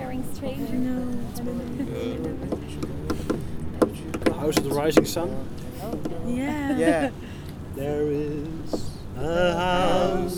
Late night singing with some other travelers 0.0 - 10.3
jewish song 0.0 - 10.3

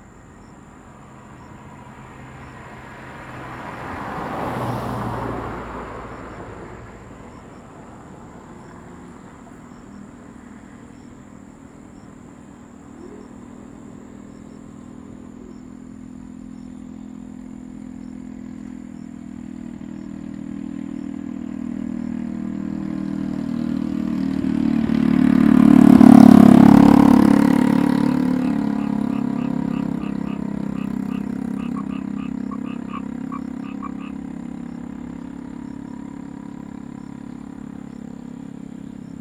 Frogs sound 0.0 - 39.2
Traffic Sound 0.0 - 39.2

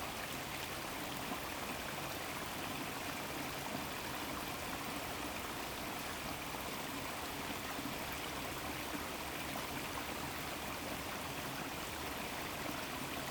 streamflow from the valley of the mills 0.0 - 13.3

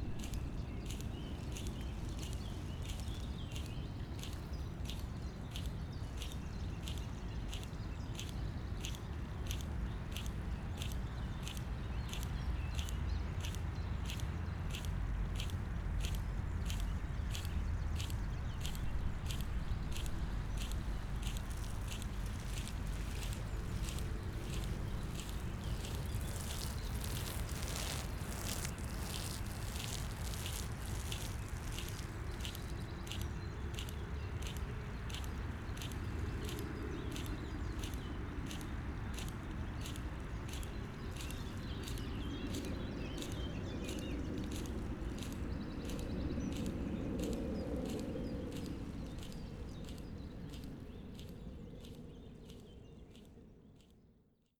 irrigation system 0.0 - 53.3
distant morming rush hour traffic noise 12.1 - 36.6

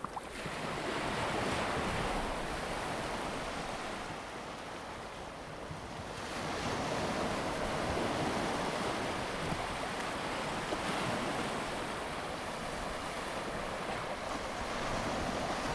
waves 0.0 - 15.7

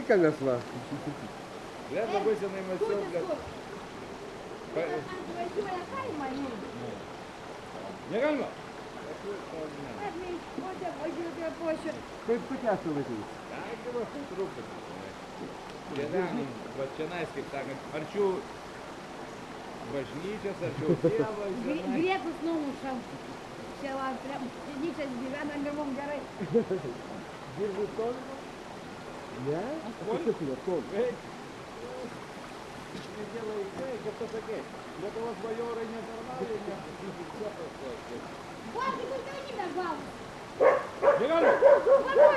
local peoples taking it's water 0.0 - 42.3
talks at the holy source 1.8 - 3.7
talks at the holy source 4.6 - 15.2
talks at the holy source 33.1 - 42.3

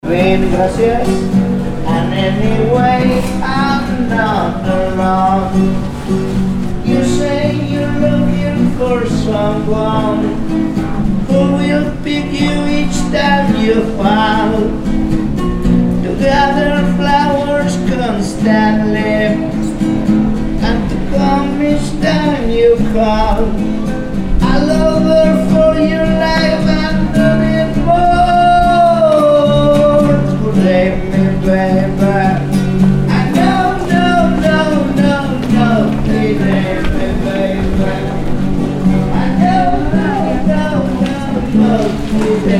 street musician 0.0 - 42.5

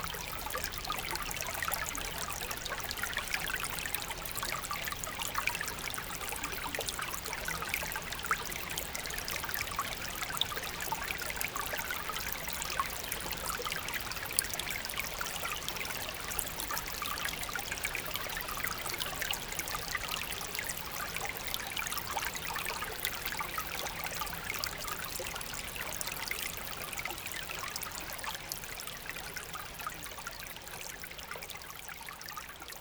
very small stream inside the woods 0.0 - 32.8

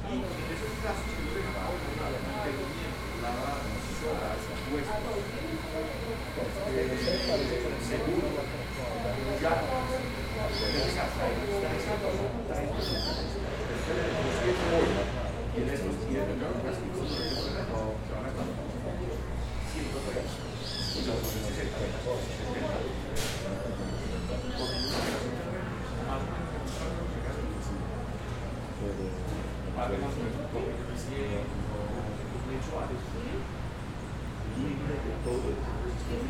licuadoras 0.0 - 15.5
Conversaciones 0.0 - 36.2
pájaros 0.2 - 12.1
Batidoras 0.2 - 15.4

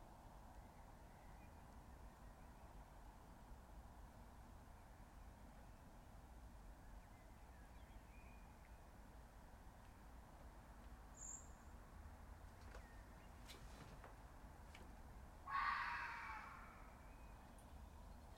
Fox Screaming 15.5 - 17.0

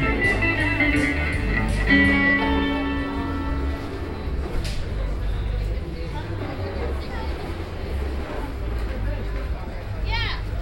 Guitarist 0.0 - 5.8

